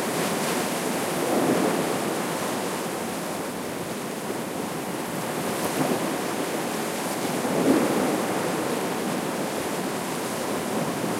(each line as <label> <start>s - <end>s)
waves 0.0s - 11.1s